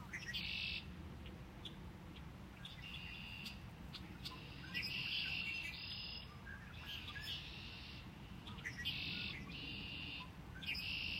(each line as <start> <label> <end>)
0.0 Bird calls 11.1
0.0 wind 11.1